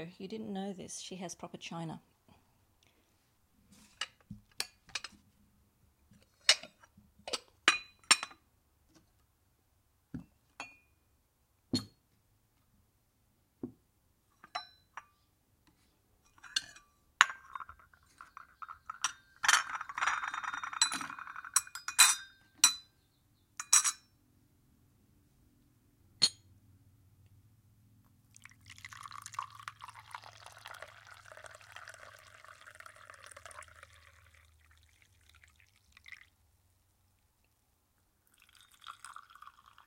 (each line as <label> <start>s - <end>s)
bone china tea service - clinks nicely 16.3s - 22.9s
bone china tea service - clinks nicely 23.6s - 24.1s